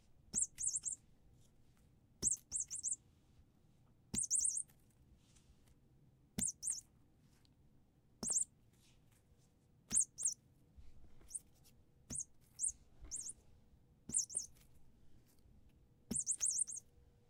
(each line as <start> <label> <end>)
0.3 Squeaking cat mouse toy 1.1
2.2 Squeaking cat mouse toy 3.0
4.1 Squeaking cat mouse toy 4.7
6.4 Squeaking cat mouse toy 6.9
8.2 Squeaking cat mouse toy 8.5
9.9 Squeaking cat mouse toy 10.4
11.2 Squeaking cat mouse toy 13.4
14.1 Squeaking cat mouse toy 14.6
16.1 Squeaking cat mouse toy 16.9